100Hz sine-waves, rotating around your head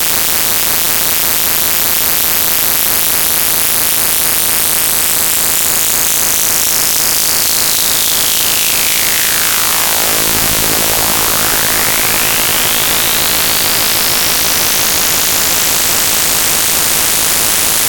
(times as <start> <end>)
5.8 17.8